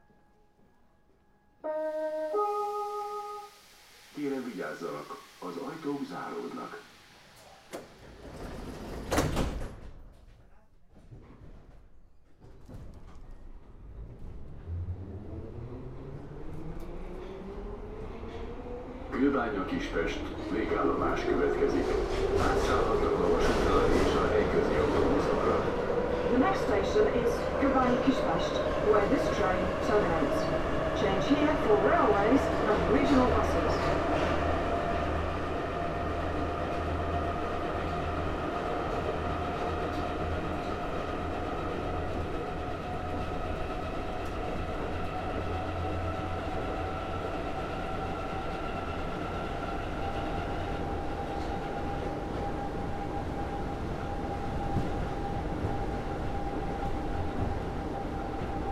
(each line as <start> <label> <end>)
0.0 metro is driving into the station 10.1
12.1 metro is driving into the station 58.7